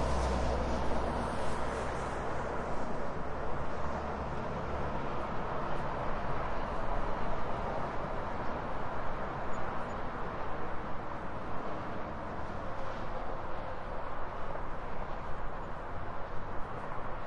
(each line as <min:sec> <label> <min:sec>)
0:00.0 Car 0:17.2
0:00.0 highway 0:17.2